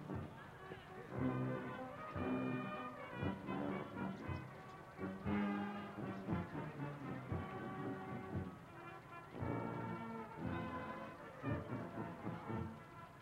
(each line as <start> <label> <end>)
0.0 brass band 13.2
3.0 birds 13.2